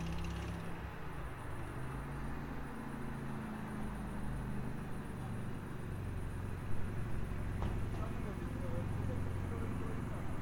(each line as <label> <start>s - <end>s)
traffic 0.0s - 10.4s